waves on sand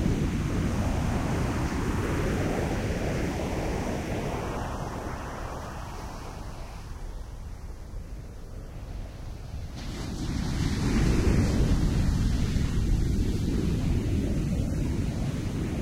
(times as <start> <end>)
8.8 15.8